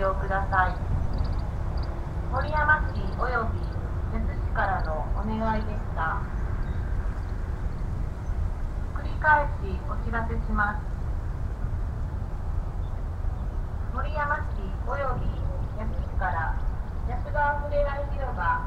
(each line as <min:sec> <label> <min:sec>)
0:00.0 hourly public address message 0:01.0
0:00.0 Traffic rumble 0:18.6
0:02.3 hourly public address message 0:06.4
0:08.9 hourly public address message 0:10.9
0:13.9 hourly public address message 0:18.6